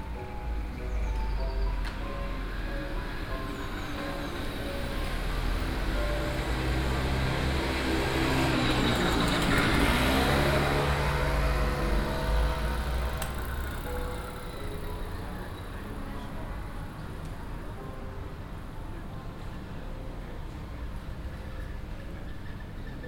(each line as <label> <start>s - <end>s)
piano play that comes out of an open window 0.0s - 23.0s